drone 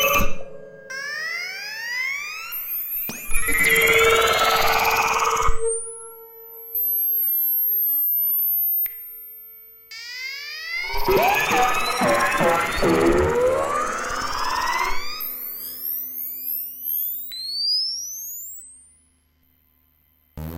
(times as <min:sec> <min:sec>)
0:00.0 0:07.1, 0:10.1 0:16.5